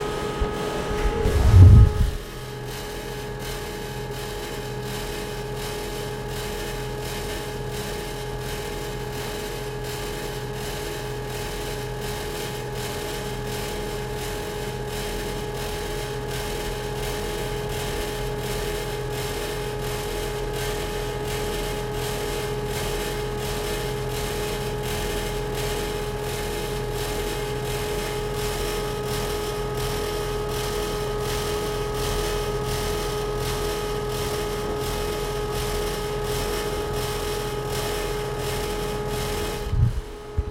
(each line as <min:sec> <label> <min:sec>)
0:00.0 Fan 0:04.6
0:14.7 Fan 0:40.5